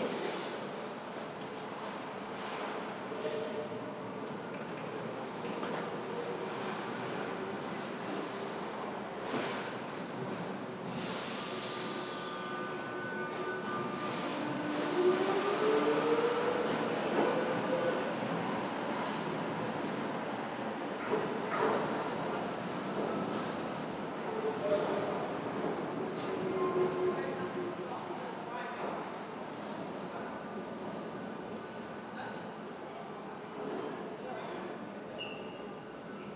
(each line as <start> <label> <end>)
0.0 Tram 34.1